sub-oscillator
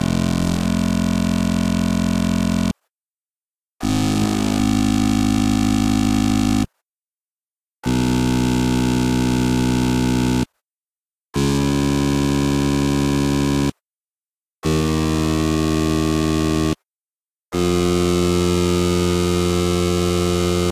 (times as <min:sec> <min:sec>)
0:00.0 0:02.7, 0:03.9 0:06.1